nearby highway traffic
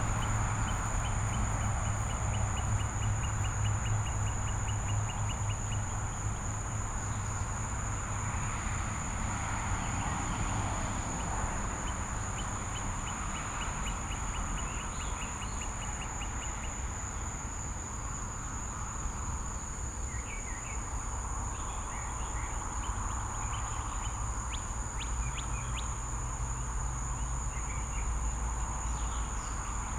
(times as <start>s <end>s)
0.0s 13.8s